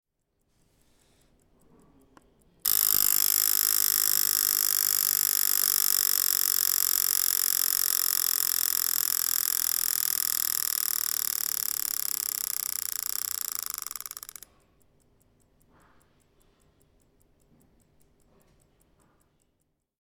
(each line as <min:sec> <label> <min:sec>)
0:02.6 old travel clock, foldable 0:14.4